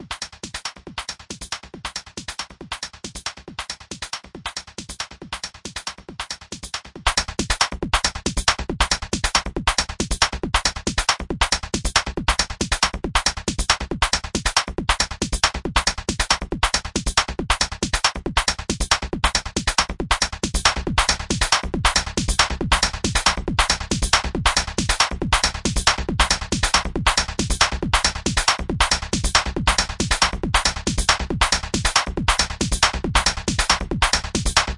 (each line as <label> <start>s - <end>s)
beat 14.9s - 34.7s